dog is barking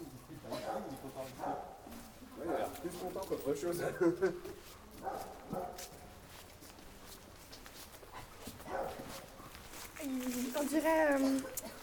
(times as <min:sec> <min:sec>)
0:00.5 0:02.8, 0:05.0 0:06.2, 0:08.1 0:09.6